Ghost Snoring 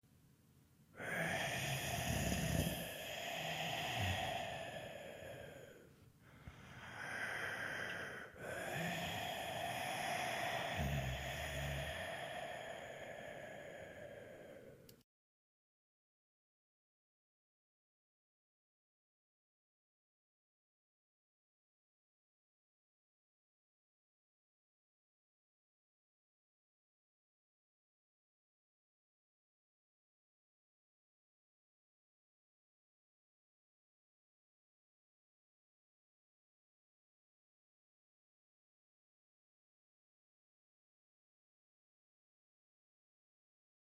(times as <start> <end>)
1.0 14.9